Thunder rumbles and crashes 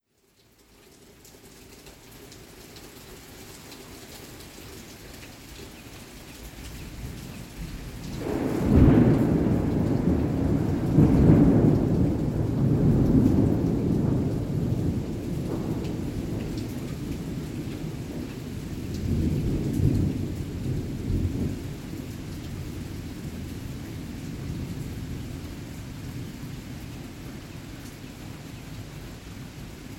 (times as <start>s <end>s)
8.1s 22.1s